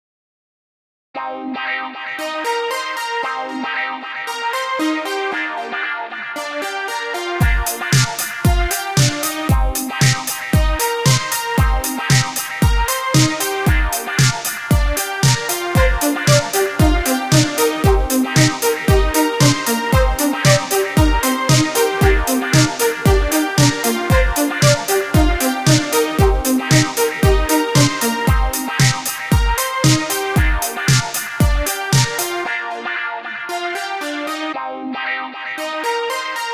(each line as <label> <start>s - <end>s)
guitar 1.2s - 36.5s
drum loop 7.4s - 32.4s